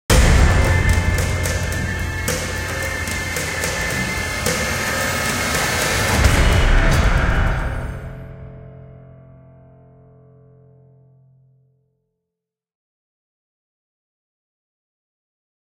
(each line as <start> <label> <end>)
0.1 bass 11.6
0.1 kick 8.3
0.1 epic drum 8.8